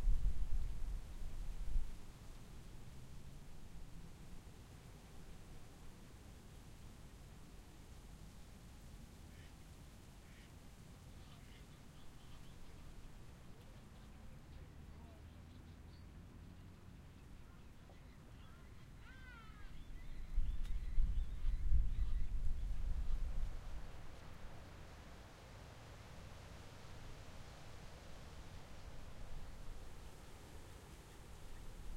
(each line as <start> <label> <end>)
10.2 ducks 10.5
11.2 ducks 12.8